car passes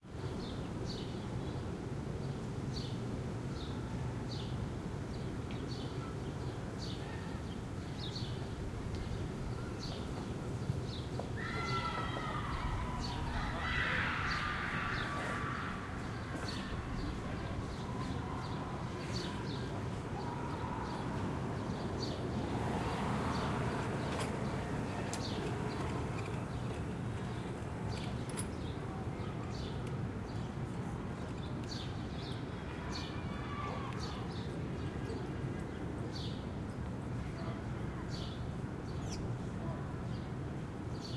22.3 26.6

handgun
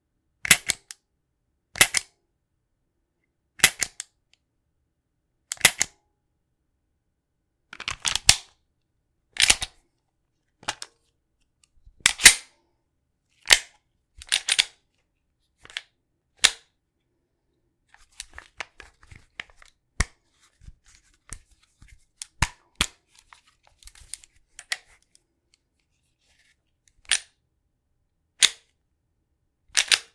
1.8 2.1, 12.0 12.5

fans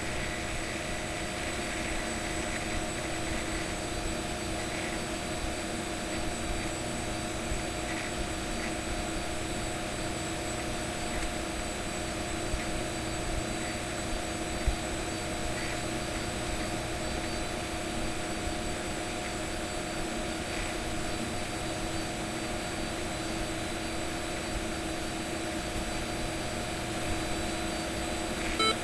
24.0 28.8

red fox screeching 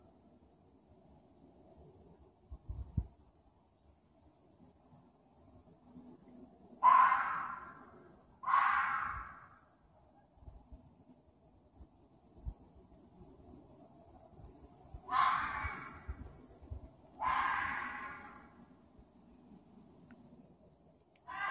6.8 7.8, 8.4 9.5, 15.1 16.1, 17.2 18.5, 21.3 21.5

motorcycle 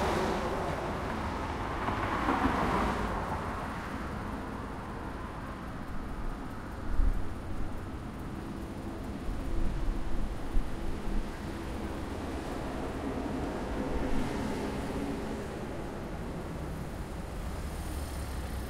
17.2 18.6

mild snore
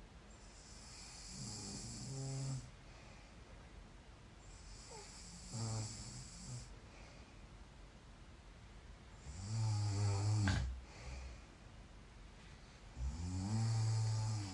0.4 2.7, 4.4 6.8, 9.2 11.2, 12.9 14.5

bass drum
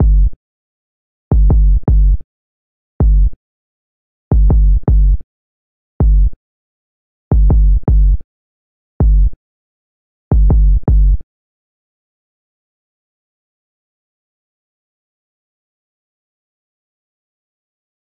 0.0 0.4, 1.3 2.2, 3.0 3.4, 4.3 5.2, 6.0 6.4, 7.3 8.2, 9.0 9.4, 10.3 11.2

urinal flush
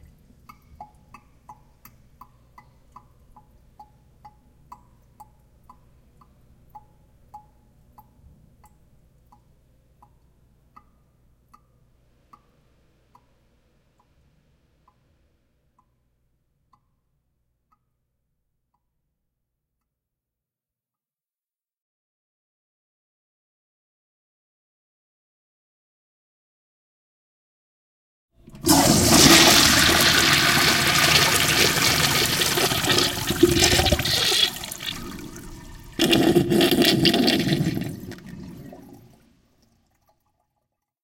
28.4 40.4

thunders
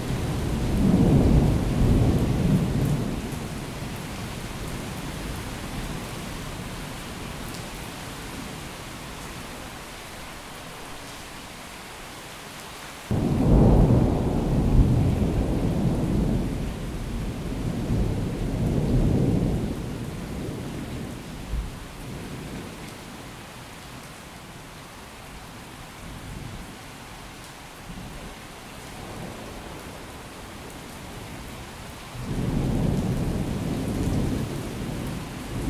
13.1 20.7

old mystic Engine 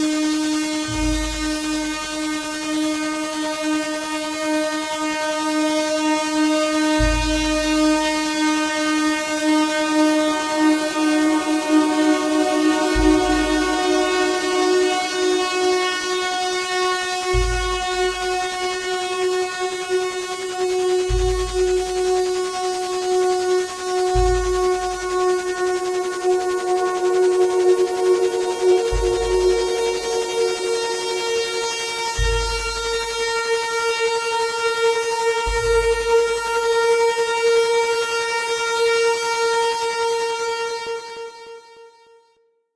20.3 33.3

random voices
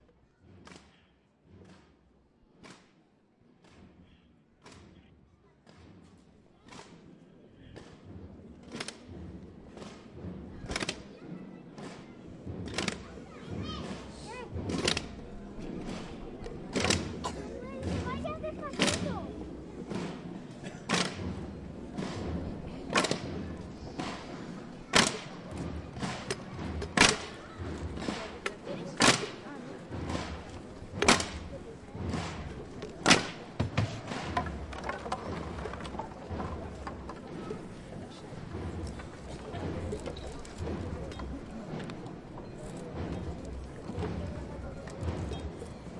9.8 45.9

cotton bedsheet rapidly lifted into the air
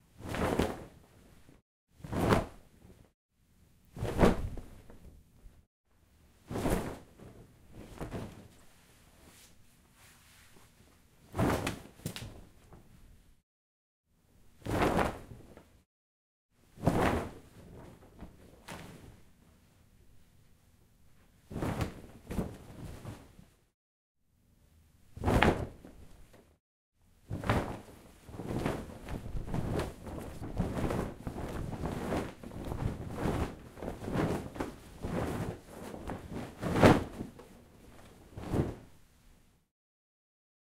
2.0 2.6, 3.9 4.9, 6.4 8.5, 11.3 11.9, 14.6 15.5, 16.8 17.5, 21.5 23.4, 25.2 25.9, 27.3 37.4, 38.0 38.9

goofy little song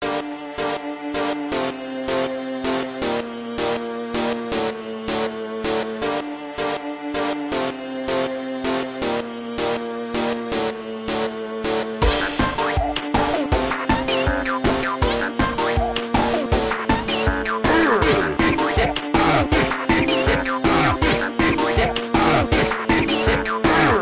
12.0 24.0

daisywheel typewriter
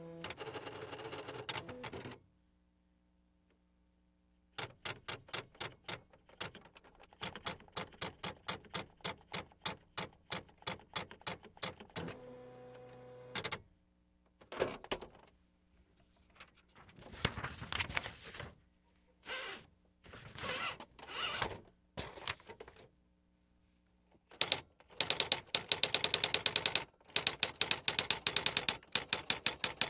24.3 29.8

